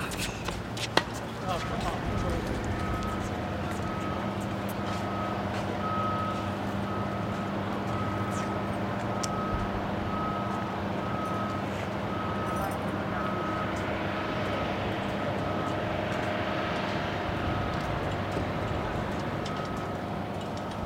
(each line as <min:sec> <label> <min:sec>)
0:00.0 Old guys playing tennis 0:05.8